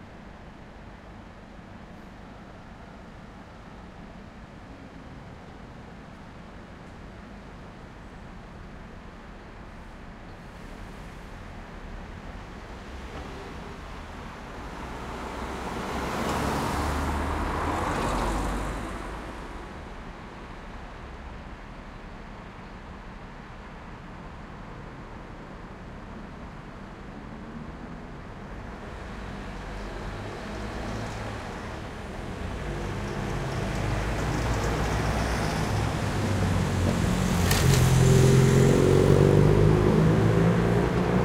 Traffic 0.0 - 41.2
bus 0.0 - 41.2

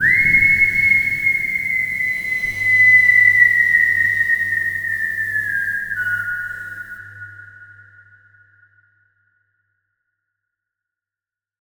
humming 0.0 - 7.0
long whistle 0.0 - 7.7

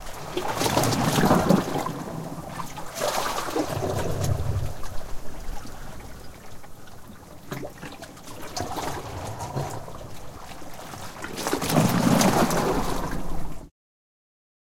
waves in gully 0.0 - 13.7

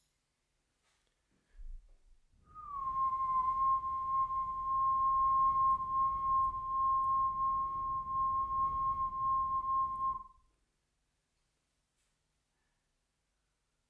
ordinary whistle tone 2.4 - 10.4

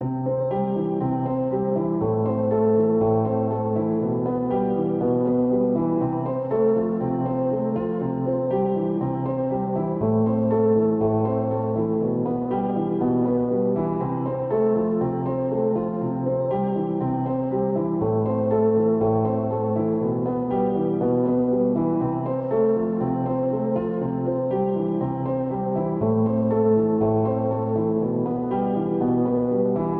piano 0.0 - 29.9

